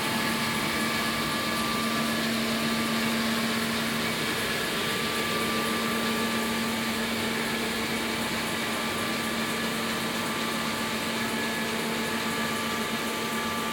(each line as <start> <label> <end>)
0.0 Turbines in the micro hydroelectric power plant 13.7